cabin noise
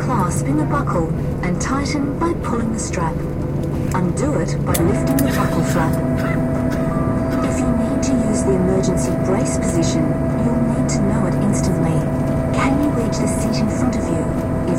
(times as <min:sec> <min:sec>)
0:03.2 0:14.7